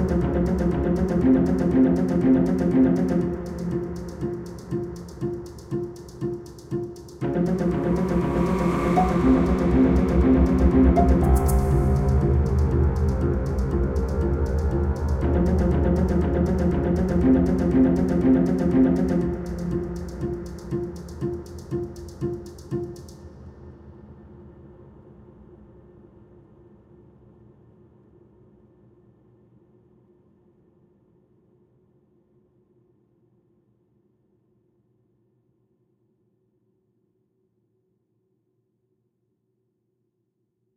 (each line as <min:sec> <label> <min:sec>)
0:00.0 Orchestral Suspense Loop 0:23.2